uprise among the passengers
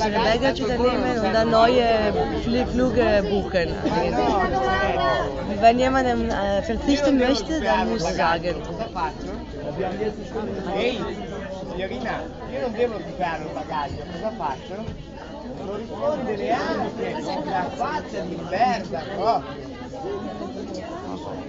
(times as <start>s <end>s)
0.0s 13.1s